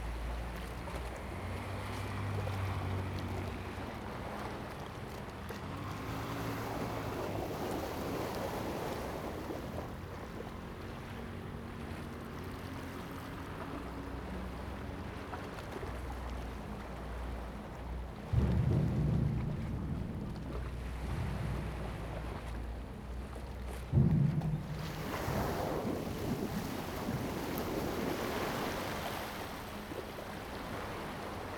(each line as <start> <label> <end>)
0.0 Sound tide 31.5